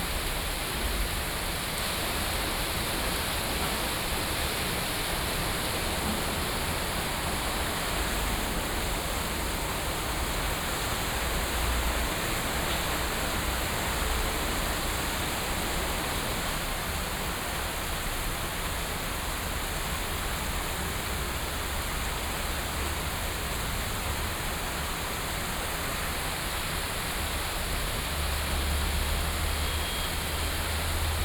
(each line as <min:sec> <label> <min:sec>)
0:27.7 Traffic Sound 0:31.2